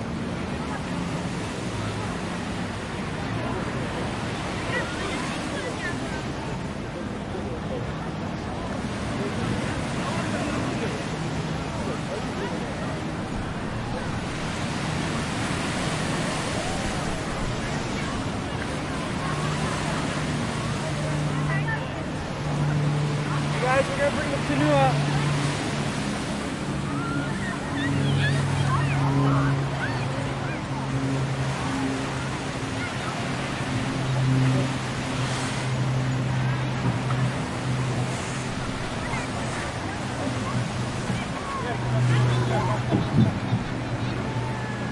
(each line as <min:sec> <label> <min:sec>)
0:00.0 families on the beach 0:44.9
0:00.0 ocean 0:44.9